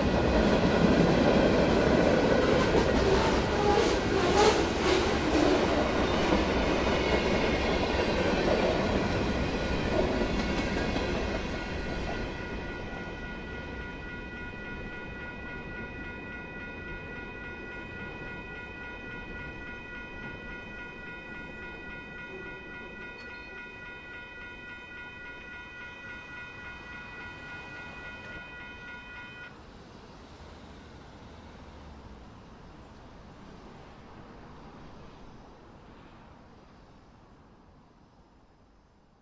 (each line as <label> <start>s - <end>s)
Cargo train approaches & passes 0.0s - 39.1s
Warning bells 9.2s - 29.5s